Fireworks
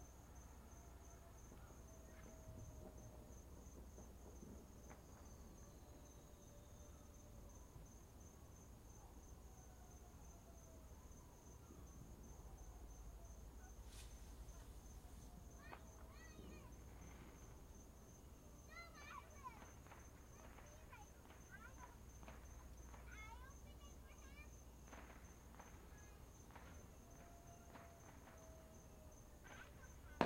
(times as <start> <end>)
1.4 6.4, 13.8 17.6, 18.7 30.2